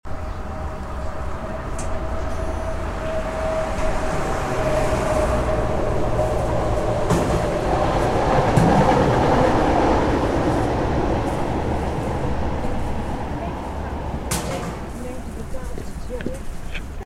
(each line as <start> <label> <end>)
0.0 Tram approaching 17.0